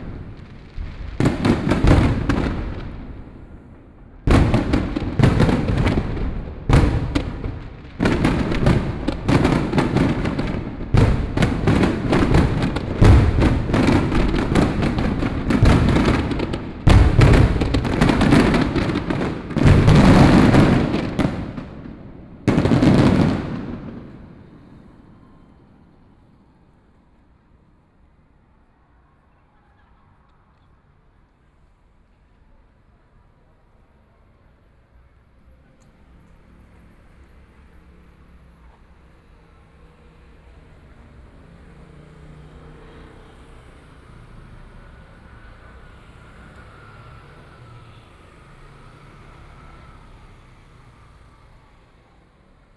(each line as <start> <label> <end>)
0.0 fireworks 26.9
0.0 Traffic Sound 52.7
36.9 fireworks 52.1